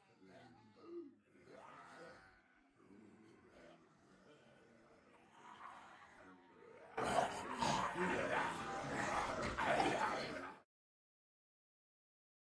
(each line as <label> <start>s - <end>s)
people pretending to be zombies 6.9s - 10.6s